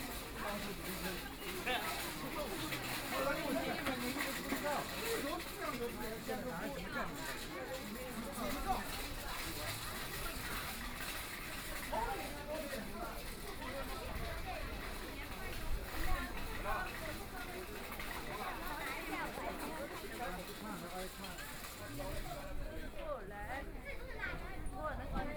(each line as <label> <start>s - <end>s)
voice of the market 0.0s - 25.3s